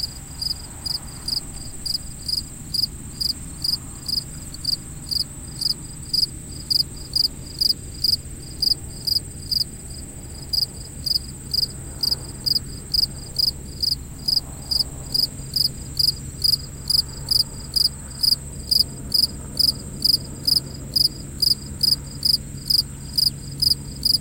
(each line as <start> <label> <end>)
0.0 airplane 24.2
0.0 cicadas 24.2
0.0 crickets 24.2
5.3 helicopter 24.2